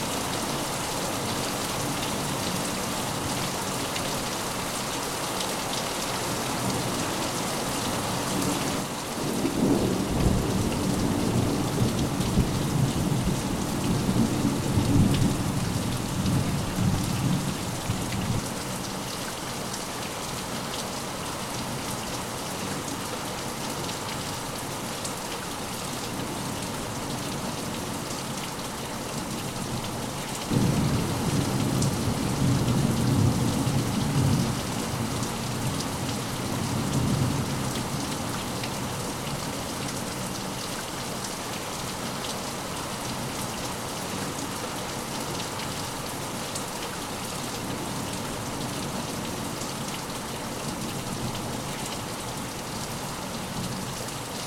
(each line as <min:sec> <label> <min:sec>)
0:09.2 Severe Rainstorm passing 0:18.1
0:30.5 Severe Rainstorm passing 0:37.3